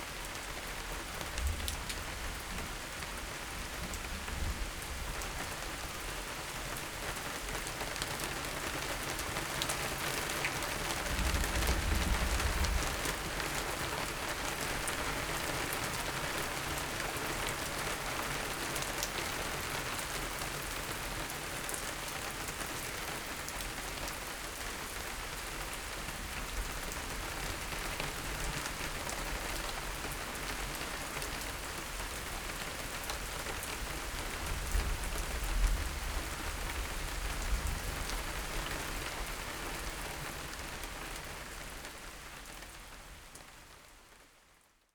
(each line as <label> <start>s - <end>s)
rain 0.0s - 44.9s